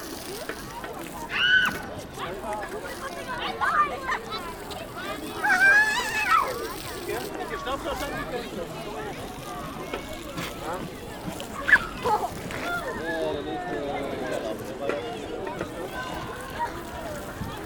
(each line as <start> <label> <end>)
0.0 Children playing with water 17.6